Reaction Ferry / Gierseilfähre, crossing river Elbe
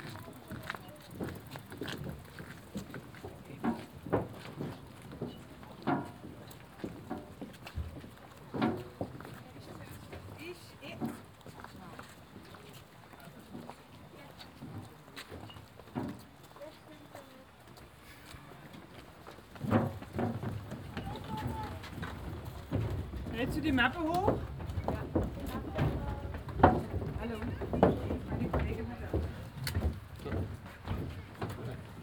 0:16.0 0:32.0

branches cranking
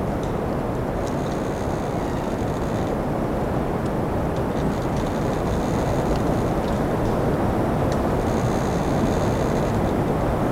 0:04.4 0:07.1, 0:08.0 0:10.0

